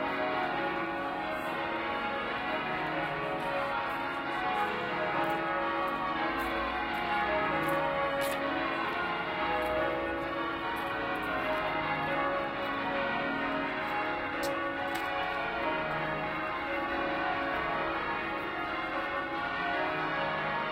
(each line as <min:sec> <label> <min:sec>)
0:00.0 Cathedral bells repeating over and over 0:20.7